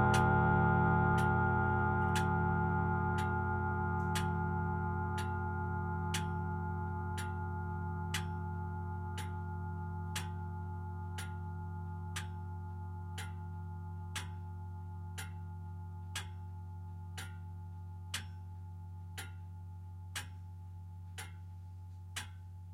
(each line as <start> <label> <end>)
0.0 grandfatherclock 22.7